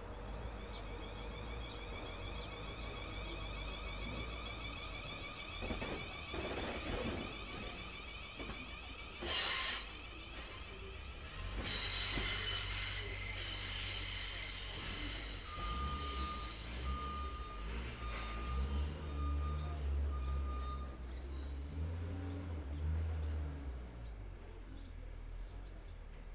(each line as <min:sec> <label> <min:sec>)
0:00.0 machinery 0:21.9
0:00.0 train 0:26.3
0:00.7 reversing beeps 0:10.9
0:14.6 reversing beeps 0:21.8